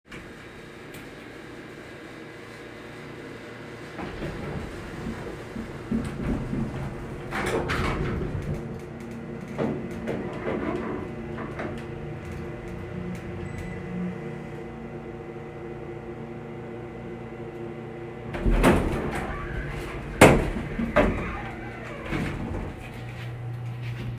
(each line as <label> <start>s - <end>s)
Elevator Ride Interior 0.1s - 24.1s
Doors close before movement 2.9s - 14.8s
Doors close before movement 18.2s - 24.1s